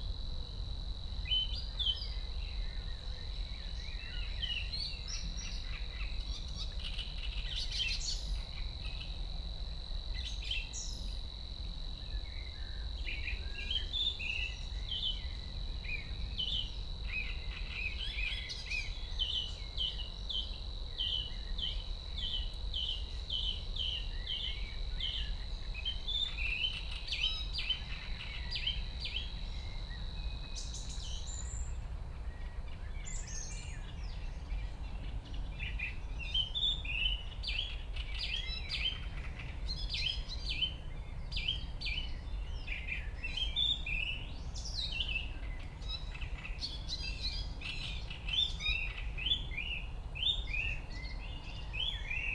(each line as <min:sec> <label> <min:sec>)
0:12.2 Great reed warbler 0:52.3